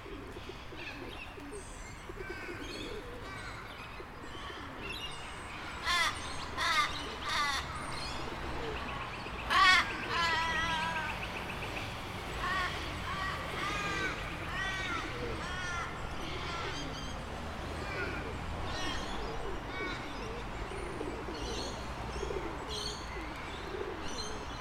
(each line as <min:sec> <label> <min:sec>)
0:00.0 pigeons 0:24.6
0:02.2 Crows 0:04.8
0:05.8 Crows 0:07.8
0:09.5 Crows 0:11.2
0:12.4 Crows 0:17.1